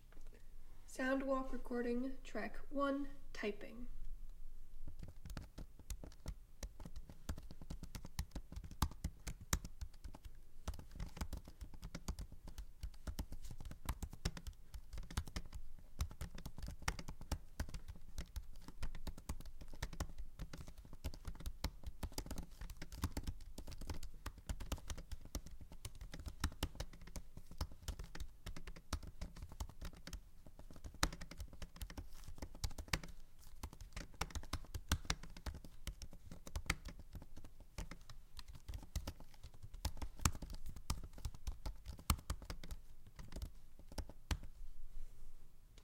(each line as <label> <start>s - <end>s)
Typing on a mac computer keyboard 4.9s - 44.5s